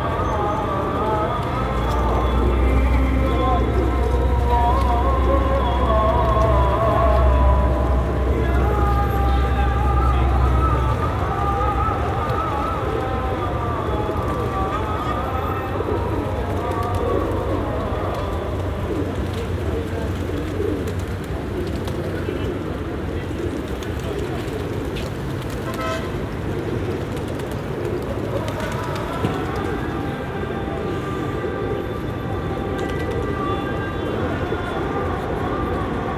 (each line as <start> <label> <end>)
0.0 Adhan 36.1
9.6 Pigeons 36.0